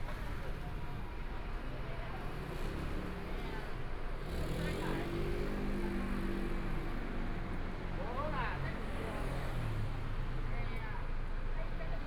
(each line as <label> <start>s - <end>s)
Pedestrian 0.1s - 12.0s